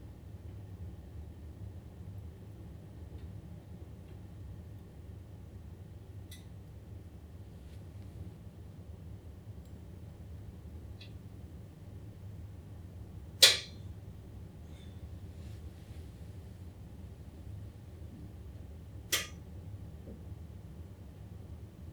cast iron stove cooling down 13.4 - 13.8
cast iron stove cooling down 19.1 - 19.4

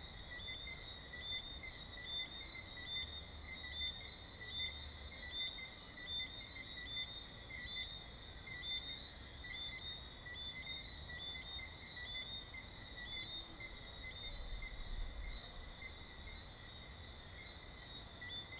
crickets 0.0 - 18.5
general buzz of distant activity 0.0 - 18.5

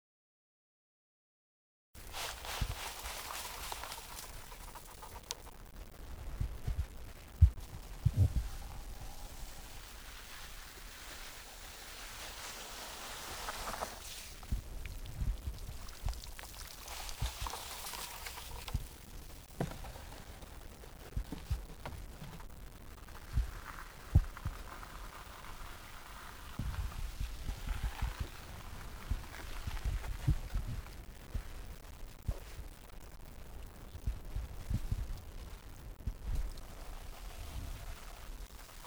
ramassage de fleur de sel 2.0 - 5.5
ramassage de fleur de sel 7.6 - 21.6

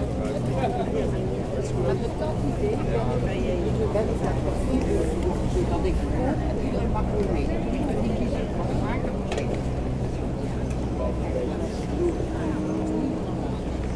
people buy meal 0.0 - 13.9

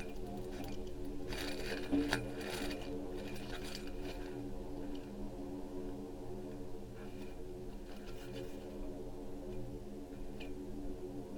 leaves 0.0 - 5.1

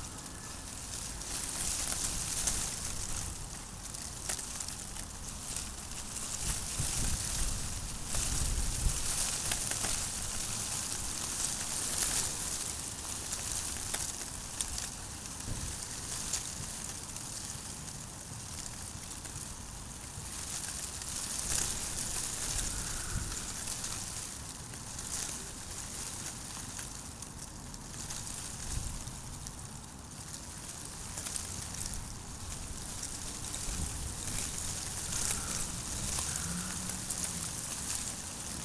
wind in the arbours 0.0 - 38.6

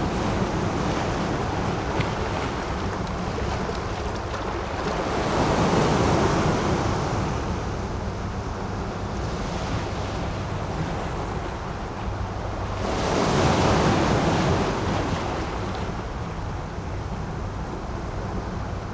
waves 0.0 - 18.9

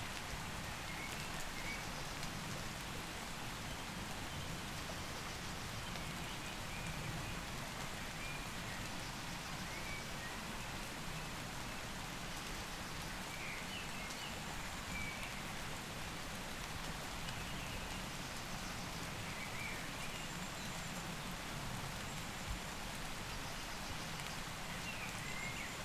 medium rain 0.0 - 25.8

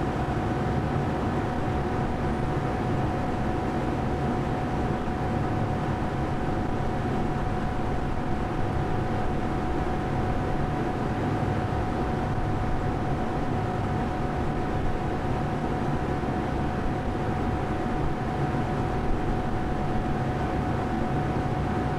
noise of the air conditioner 0.0 - 21.9

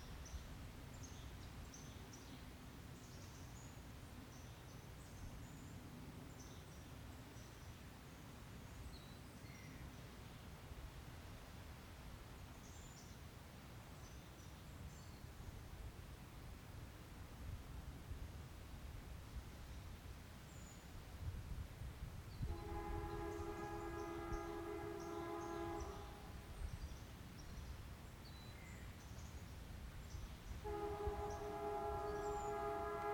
freight train 22.4 - 26.5
blowing its horn 22.5 - 26.3
freight train 30.4 - 33.1
blowing its horn 30.6 - 33.1

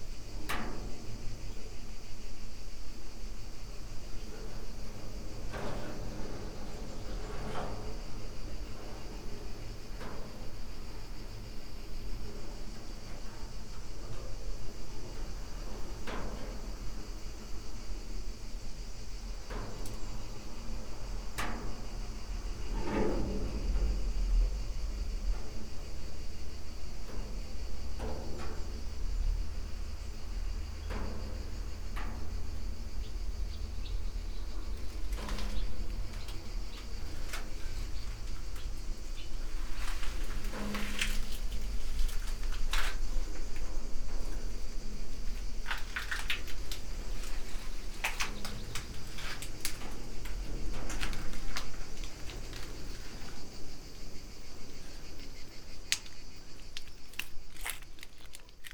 cicadas 0.0 - 58.7
tree branches on the top of metal shed, moved by wind 0.0 - 58.7
steps 34.5 - 58.7
dry leaves 55.9 - 58.7

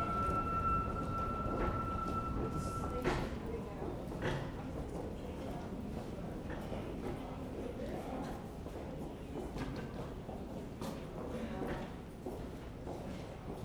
wind whistles in the tunnel 0.0 - 3.6
Tube trains 0.0 - 6.2

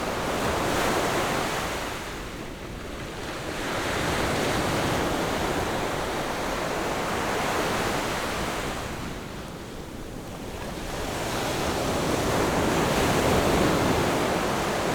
waves 10.4 - 14.9

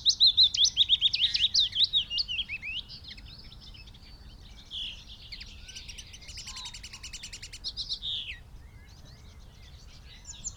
pheasant 4.8 - 8.4
crow 6.5 - 7.2

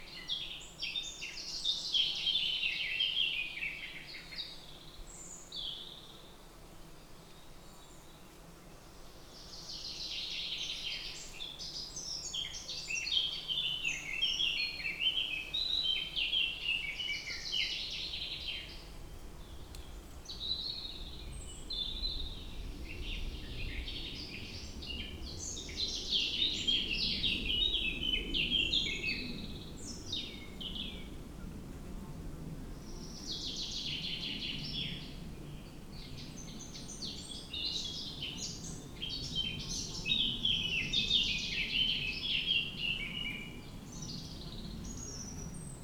Birds in forest 0.0 - 45.8

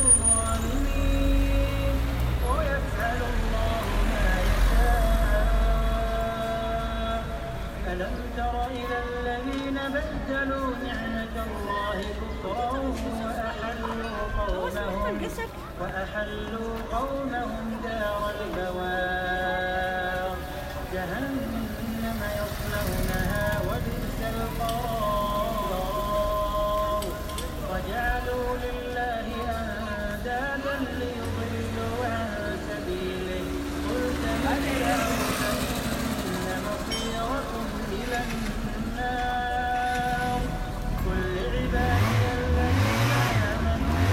busy road 0.0 - 44.1

